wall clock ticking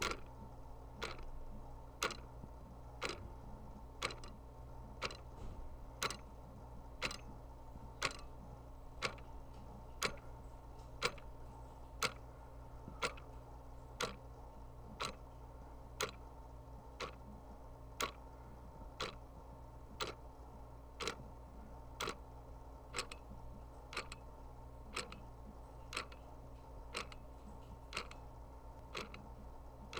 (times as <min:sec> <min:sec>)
0:00.0 0:00.3, 0:01.0 0:01.3, 0:02.0 0:02.3, 0:03.0 0:03.3, 0:04.0 0:04.4, 0:05.0 0:05.3, 0:06.0 0:06.2, 0:07.0 0:07.2, 0:08.0 0:08.2, 0:09.0 0:09.2, 0:10.0 0:10.3, 0:11.0 0:11.3, 0:12.0 0:12.2, 0:13.0 0:13.3, 0:14.0 0:14.2, 0:15.0 0:15.2, 0:16.0 0:16.2, 0:17.0 0:17.2, 0:18.0 0:18.2, 0:19.0 0:19.2, 0:20.0 0:20.2, 0:21.0 0:21.2, 0:22.0 0:22.2, 0:22.9 0:23.2, 0:23.9 0:24.2, 0:24.9 0:25.2, 0:25.9 0:26.2, 0:26.9 0:27.2, 0:27.9 0:28.2, 0:28.9 0:29.2